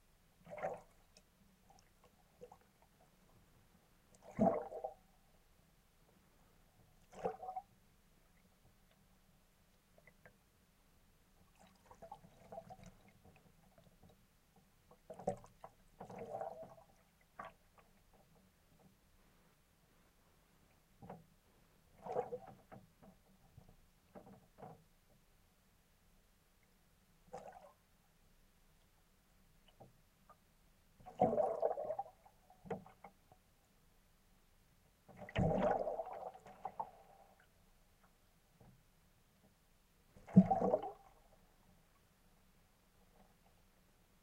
bubbling 31.1 - 32.2

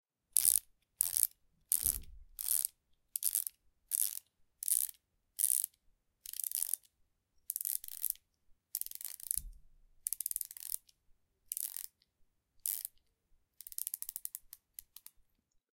ratchet screwdriver being twisted 0.4 - 6.9
ratchet screwdriver being twisted 7.5 - 8.2
ratchet screwdriver being twisted 8.8 - 9.5
ratchet screwdriver being twisted 10.1 - 10.9
ratchet screwdriver being twisted 11.5 - 11.9
ratchet screwdriver being twisted 12.6 - 13.0
ratchet screwdriver being twisted 13.6 - 15.2

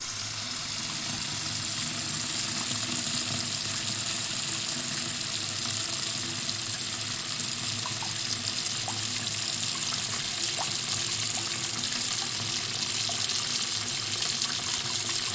dripping 7.8 - 15.3

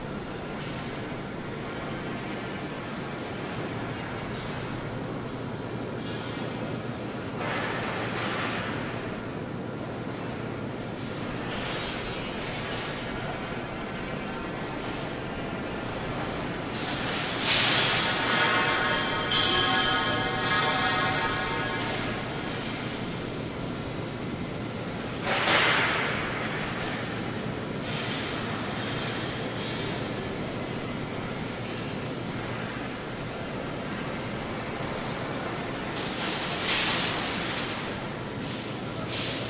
heavy machinery 0.0 - 39.4

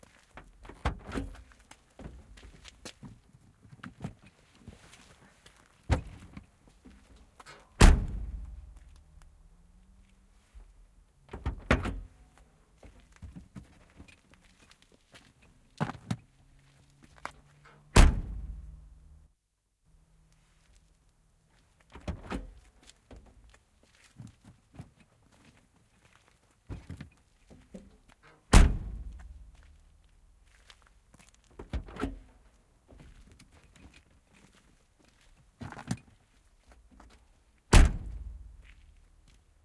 tail gate open and close 7.5 - 8.6
tail gate open and close 11.3 - 12.1
tail gate open and close 28.3 - 29.1
tail gate open and close 31.6 - 32.3
tail gate open and close 37.7 - 38.4

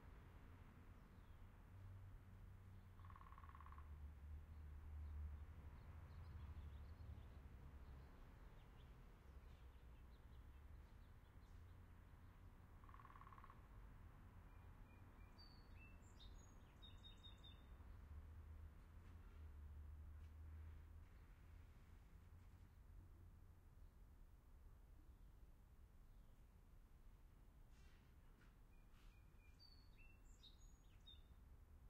woodpecker 3.0 - 3.9
woodpecker 12.8 - 13.7

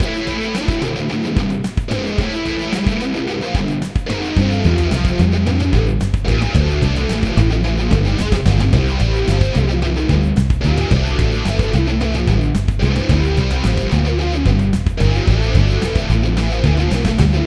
Rough rock guitar 0.0 - 17.4
backup drums 0.0 - 17.4
base 3.8 - 17.4

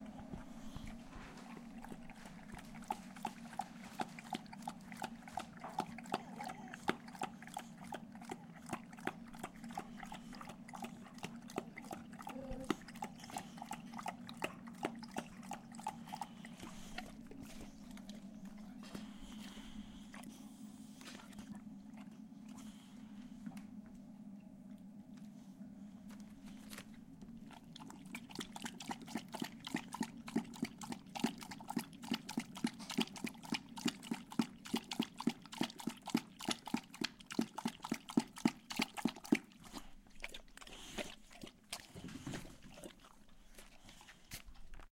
dog drinking Water 0.0 - 23.4
dog drinking Water 26.5 - 44.9

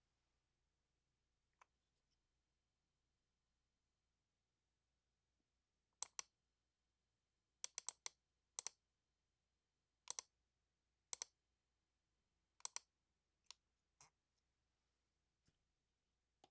mouse clicks 6.0 - 6.3
mouse clicks 10.1 - 10.3
mouse clicks 11.2 - 11.4
mouse clicks 12.6 - 12.9

